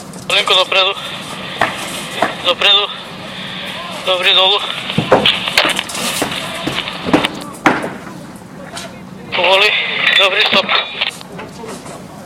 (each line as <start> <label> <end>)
0.0 crane 12.2
9.4 walkie talkie 11.2